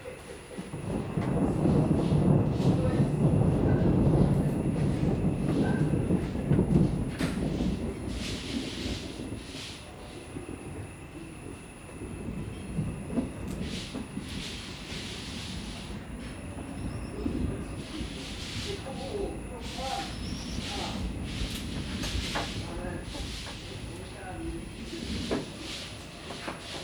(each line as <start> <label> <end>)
0.0 insects 26.8
0.1 rain 26.8
0.4 Thunder 26.8